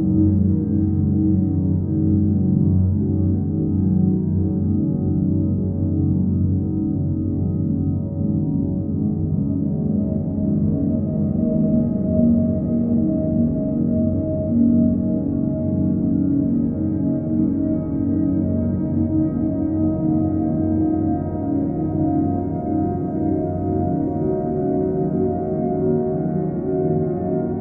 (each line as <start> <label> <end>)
0.0 Piano 27.6